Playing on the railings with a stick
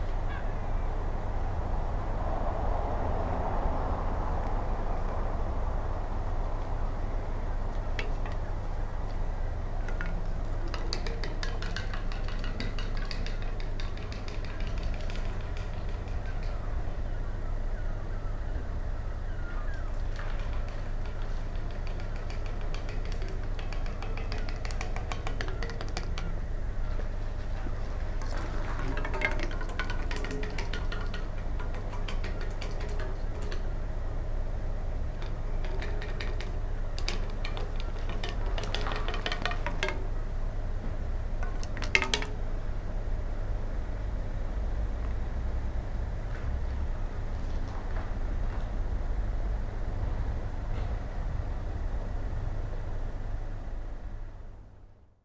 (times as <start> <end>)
4.4 44.4